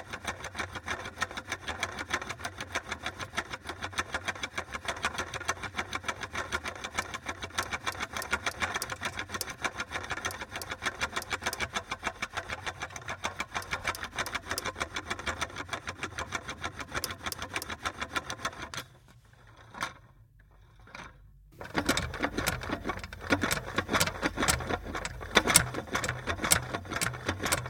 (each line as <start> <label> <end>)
7.6 repetitive, engine-like sound 15.4
21.6 repetitive, engine-like sound 27.6